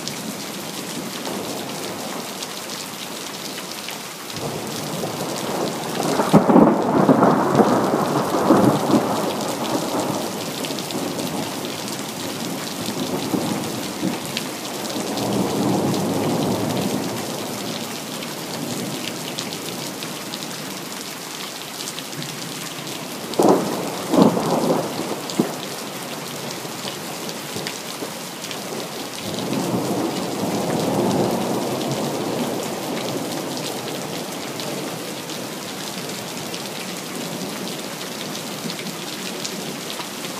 0.0s heavy rain 40.3s
4.4s frequent thunder 11.6s

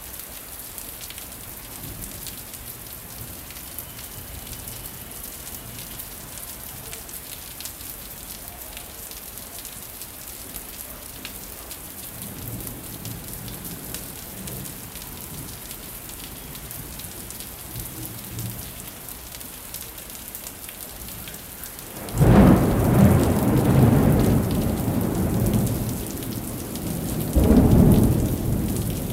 0.0s rain 29.1s
0.0s wind 29.1s
22.0s rolling thunder 29.1s

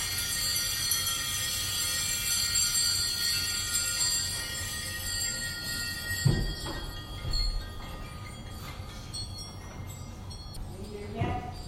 0.0s array of bells 11.6s

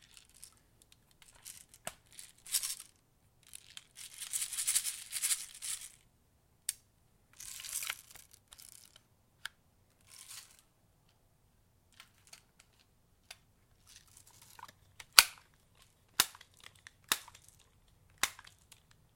0.0s rattling bb's 6.0s
7.4s rattling bb's 9.0s
12.0s rattling bb's 19.0s

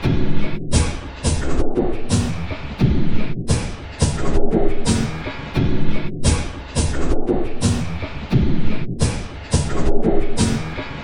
0.0s Drum Loop 11.0s

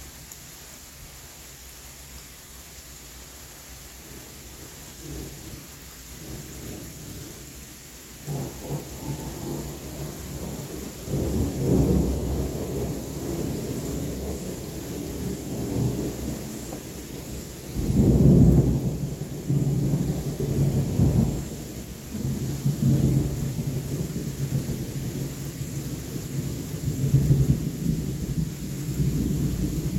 0.0s light to heavy rain 29.9s
8.2s thunder 29.9s

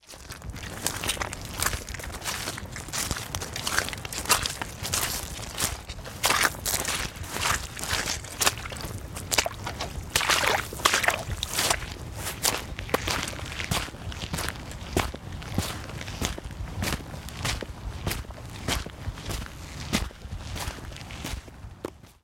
0.0s Footsteps Walking Boot Mud to Puddle to Gravel 22.2s
3.6s squelch 13.1s

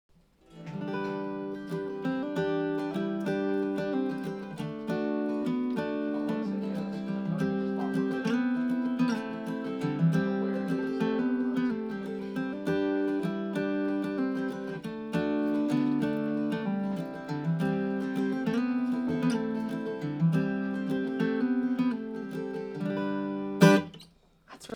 0.1s AcousticGuitar 24.7s

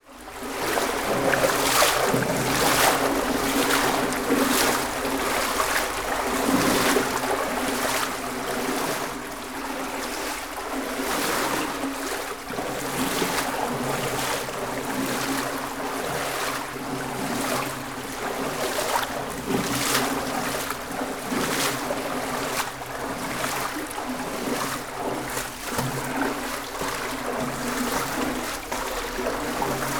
0.4s wading through water 29.9s

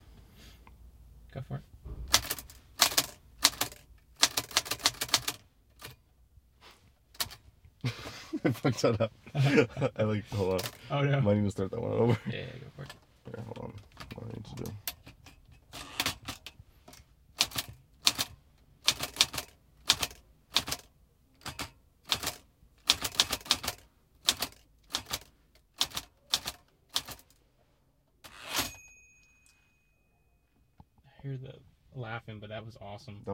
2.1s Clicking of an old typewriter 6.0s
14.0s Clicking of an old typewriter 16.5s
17.4s Clicking of an old typewriter 27.3s
28.7s ding 30.8s

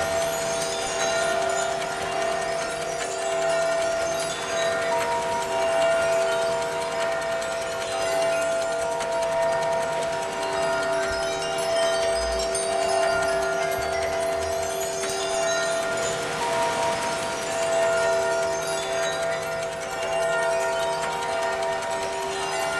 0.0s bells 22.7s
0.0s clock 22.7s
0.0s wind 22.7s
0.0s wind chimes 22.7s

